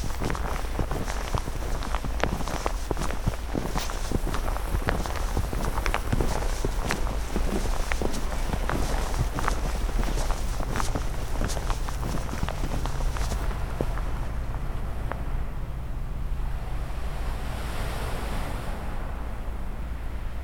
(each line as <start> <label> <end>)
0.0 walking on snow 14.3